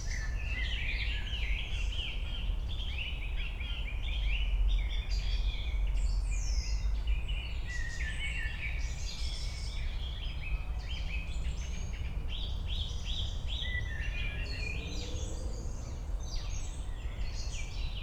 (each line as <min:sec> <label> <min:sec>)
0:10.8 city drone 0:18.0